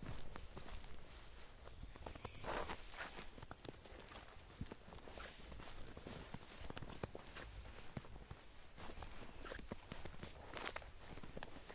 birds 0.0 - 4.5
walking in snow 0.0 - 11.7
wind 0.0 - 11.7
birds 6.2 - 11.7

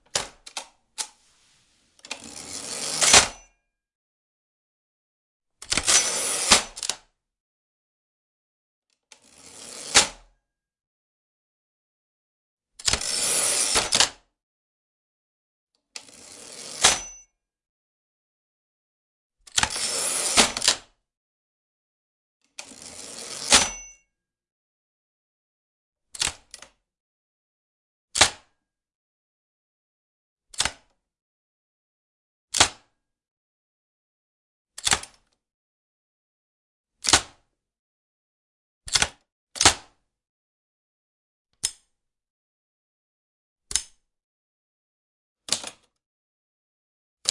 operating an older typewriter 5.6 - 7.0

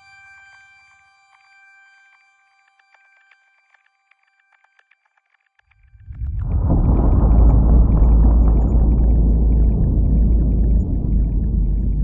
slowed down crash/explosion 5.9 - 12.0
deep, down-pitched cello 6.0 - 12.0

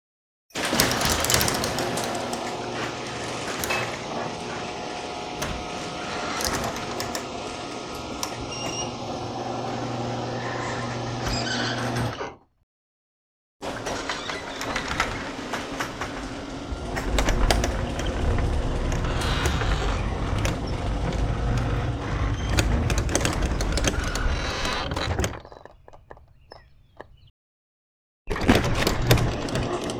garage door opening and closing 0.6 - 12.3
garage door opening and closing 13.6 - 27.3
garage door opening and closing 28.3 - 29.9

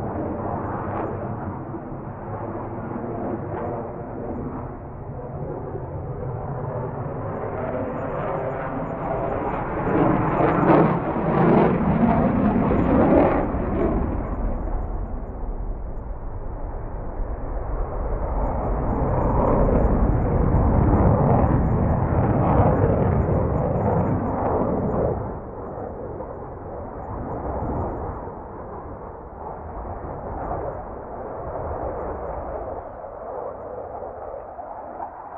McDonnell Douglas F/A-18 Hornet 0.0 - 35.3

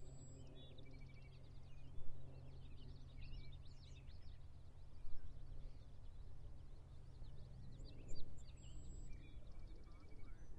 small plane flying overhead 0.0 - 10.5

